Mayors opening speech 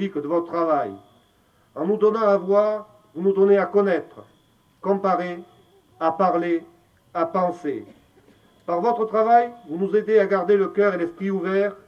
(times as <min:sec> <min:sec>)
0:08.7 0:11.8